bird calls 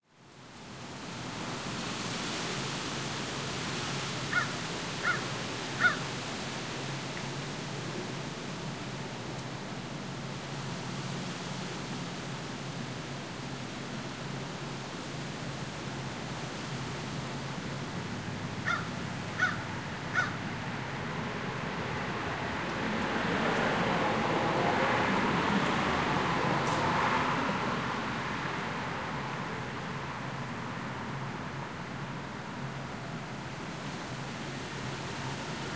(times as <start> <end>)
4.3 6.0, 18.6 20.4